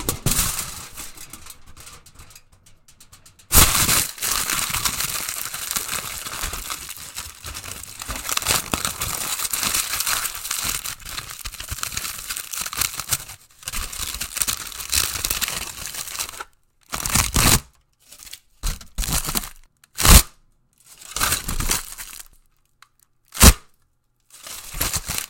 Running aluminum foil over the mic 0:00.0 - 0:23.6
Running aluminum foil over the mic 0:24.2 - 0:25.2

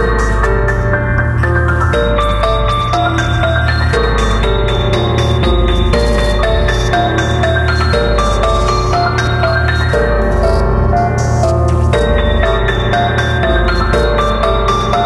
Beat 0:00.0 - 0:15.0
ROUGH PIANO 0:00.0 - 0:15.0

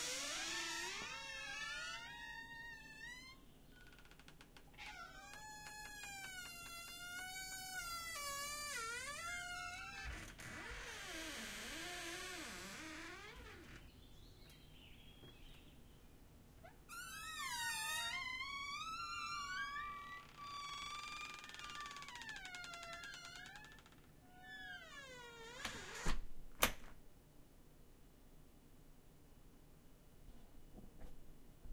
Squeaking Door 0:00.0 - 0:13.9
Squeaking Door 0:16.6 - 0:26.2

